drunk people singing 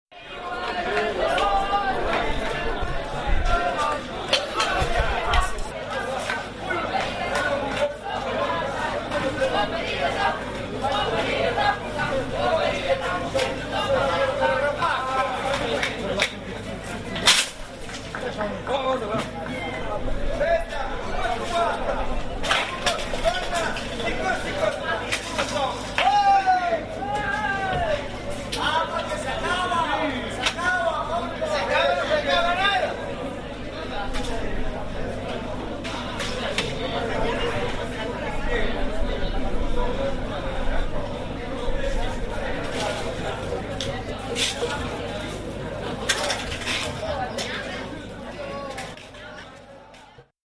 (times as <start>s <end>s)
0.2s 15.9s